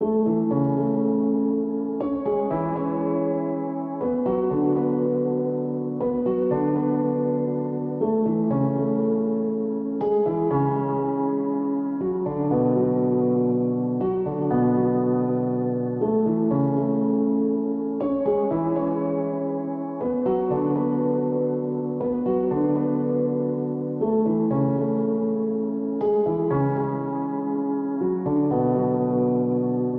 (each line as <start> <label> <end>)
0.0 piano 29.9